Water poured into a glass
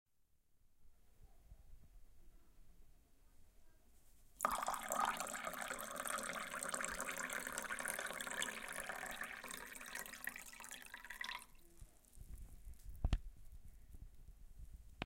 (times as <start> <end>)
4.4 11.7